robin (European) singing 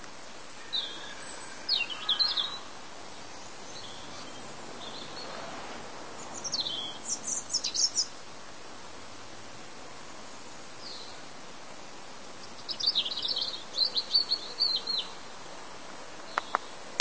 0.0s 5.4s, 6.1s 8.2s, 12.4s 15.4s

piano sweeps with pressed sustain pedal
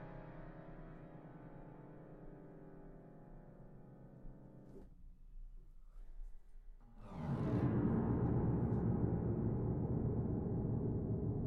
7.0s 11.4s

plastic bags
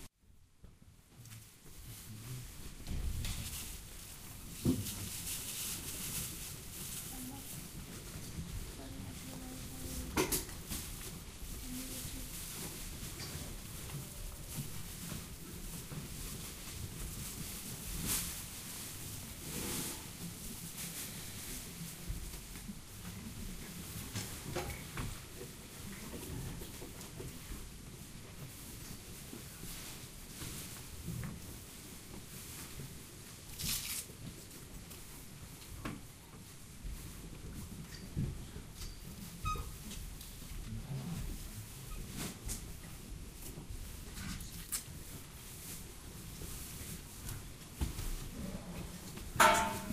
3.0s 21.9s, 33.4s 34.2s

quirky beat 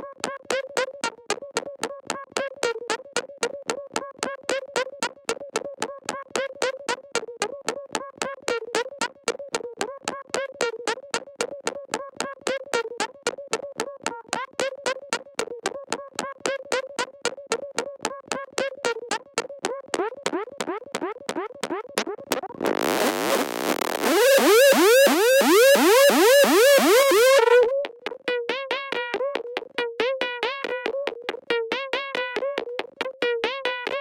9.7s 34.0s

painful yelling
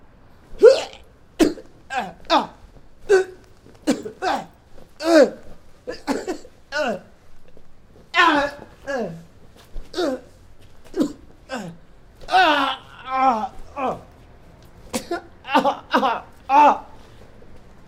0.6s 1.1s, 1.9s 3.5s, 4.1s 6.1s, 8.1s 9.3s, 11.0s 14.2s, 15.4s 17.1s

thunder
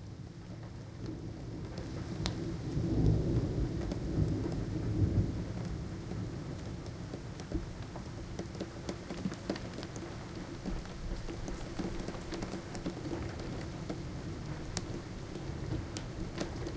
1.2s 6.8s

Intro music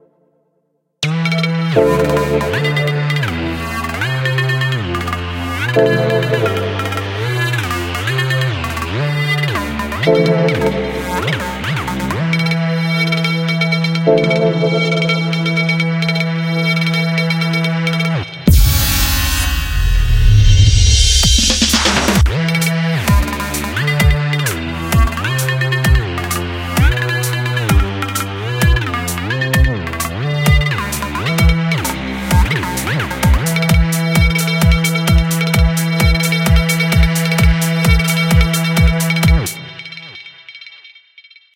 1.8s 3.5s, 5.6s 7.8s, 9.9s 12.2s, 14.0s 16.0s, 18.5s 22.2s

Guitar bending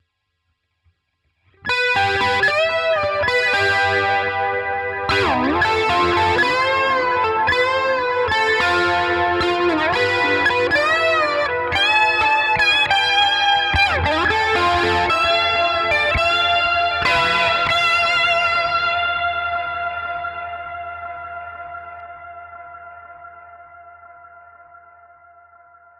1.7s 22.0s

